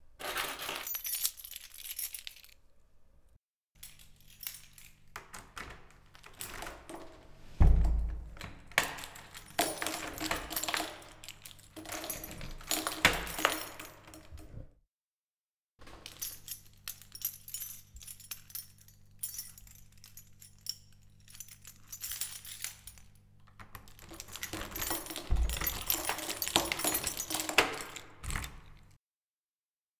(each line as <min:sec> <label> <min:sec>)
0:00.2 key jingling 0:02.6
0:03.8 key jingling 0:14.6
0:05.2 Opening and closing a door 0:11.1
0:15.8 key jingling 0:29.0
0:23.5 Opening and closing a door 0:29.0